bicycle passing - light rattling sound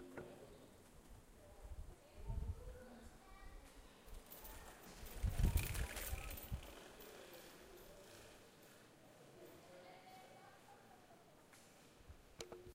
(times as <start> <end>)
4.2 8.9